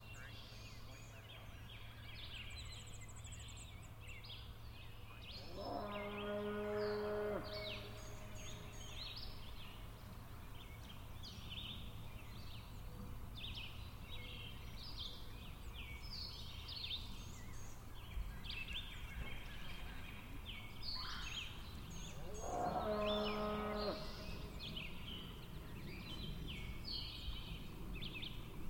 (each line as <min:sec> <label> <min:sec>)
0:00.0 nature 0:28.6